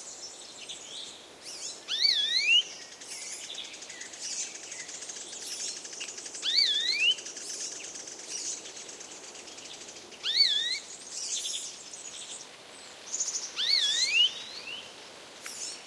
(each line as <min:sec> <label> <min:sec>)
0:00.0 Soft wind on trees 0:15.8
0:00.1 Warbler 0:15.8
0:00.2 insects fly around 0:15.8
0:00.7 Blackbird 0:12.4
0:01.9 bird (maybe a Chiffchaff, but can't be sure) reiteratively calls 0:02.7
0:06.4 bird (maybe a Chiffchaff, but can't be sure) reiteratively calls 0:07.2
0:10.2 bird (maybe a Chiffchaff, but can't be sure) reiteratively calls 0:11.6
0:13.1 Blackbird 0:14.9
0:13.2 bird (maybe a Chiffchaff, but can't be sure) reiteratively calls 0:14.6